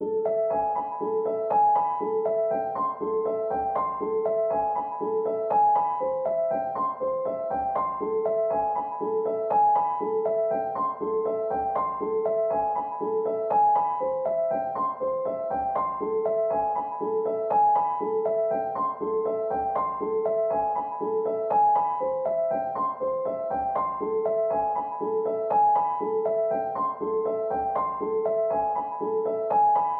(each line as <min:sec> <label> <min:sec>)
0:00.0 piano 0:29.9